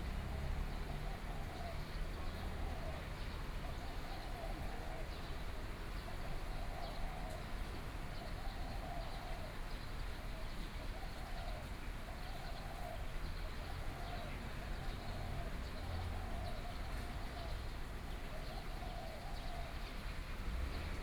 Traffic Sound 0:19.7 - 0:21.0

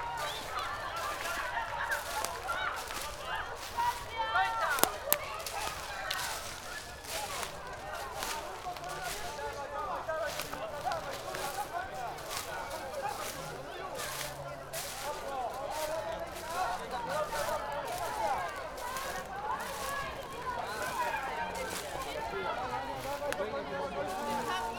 supporters and parents cheering the runners 0:00.0 - 0:24.7

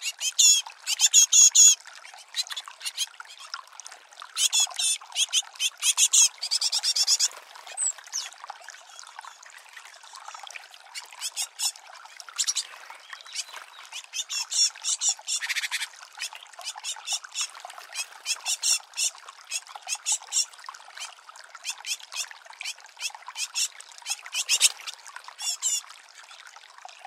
different species of birds 0:04.4 - 0:08.4
different species of birds 0:11.0 - 0:20.5
different species of birds 0:23.4 - 0:25.8

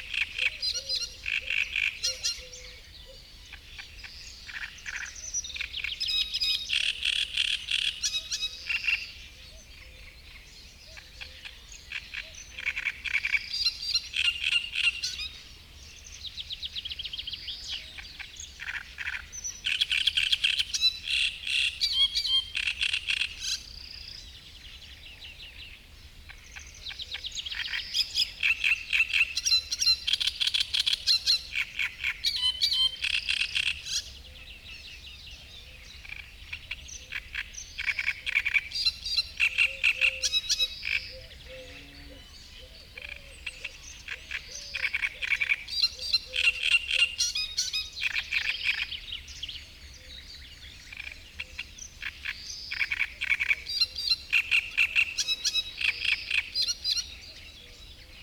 frog chorus 0:00.0 - 0:15.5
great reed warbler singing 0:00.0 - 0:58.2
frog chorus 0:17.6 - 0:24.0
frog chorus 0:26.3 - 0:34.2
frog chorus 0:35.8 - 0:49.1
frog chorus 0:50.7 - 0:57.5

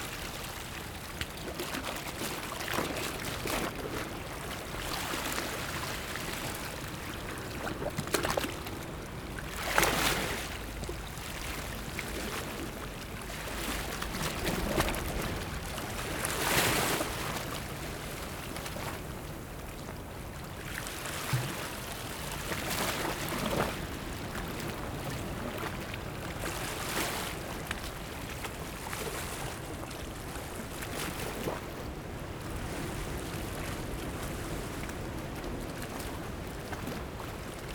waves 0:00.0 - 0:37.7

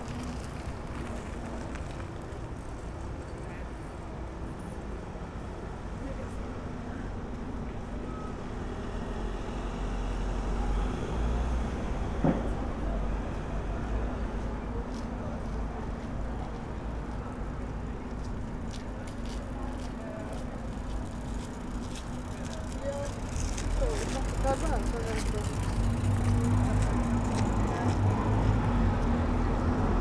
Cyclists 0:00.0 - 0:30.0
pedestrians 0:00.0 - 0:30.0
cars passing in front of recorder 0:18.9 - 0:30.0
voice of a guide from tourist boat 0:19.0 - 0:28.6

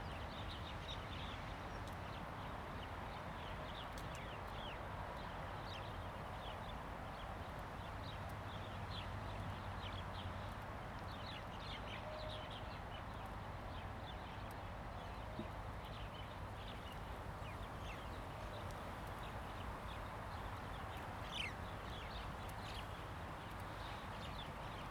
Wind 0:00.0 - 0:24.9

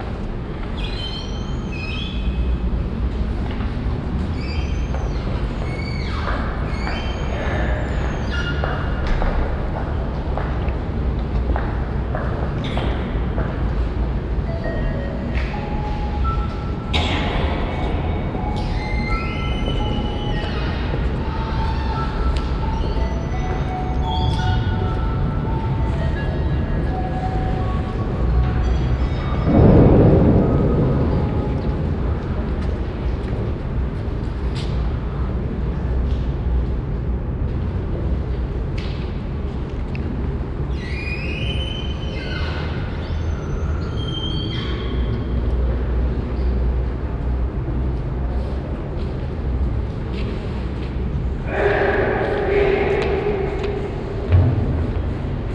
mysterical melody 0:14.3 - 0:31.7
queeking wooden doors 0:14.6 - 0:30.4
steps 0:48.9 - 0:55.5
religious ceremony choir 0:51.4 - 0:54.6

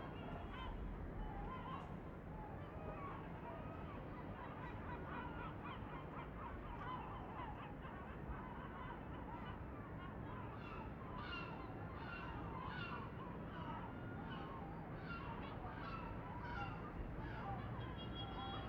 Seagulls 0:00.1 - 0:18.6

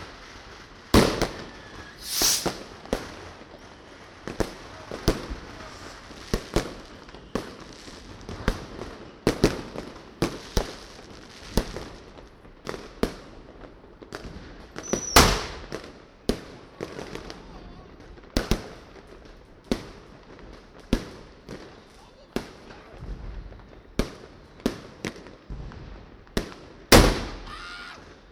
fireworks 0:00.0 - 0:28.3

